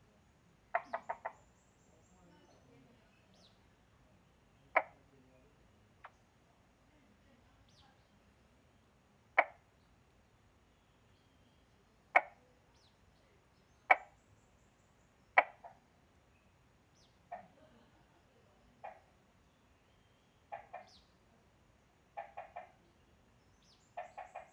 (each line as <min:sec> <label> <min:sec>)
0:00.0 Bird sounds 0:06.5
0:00.6 Frogs chirping 0:05.1
0:07.4 Bird sounds 0:24.5
0:08.8 Frogs chirping 0:10.0
0:10.6 Frogs chirping 0:17.8
0:18.5 Frogs chirping 0:24.5